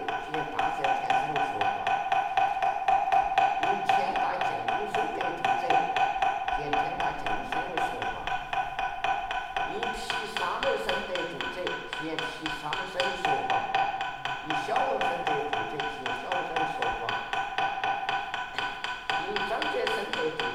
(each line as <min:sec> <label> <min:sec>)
0:00.0 monk is praying 0:02.0
0:03.6 monk is praying 0:08.3
0:09.6 monk is praying 0:17.3
0:19.1 monk is praying 0:20.5